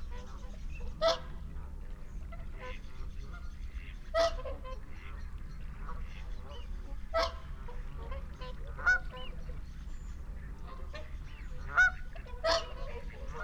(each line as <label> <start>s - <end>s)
barnacle geese flyover 0.1s - 13.4s
mallard 10.7s - 13.4s